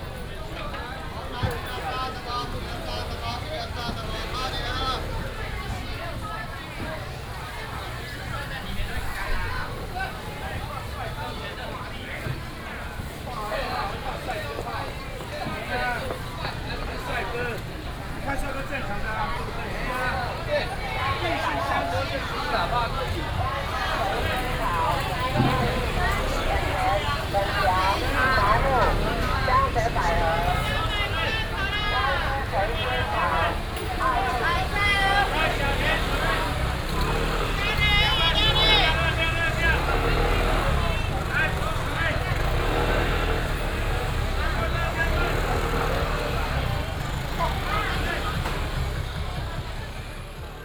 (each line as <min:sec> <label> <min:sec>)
0:00.0 Traffic sound 0:50.6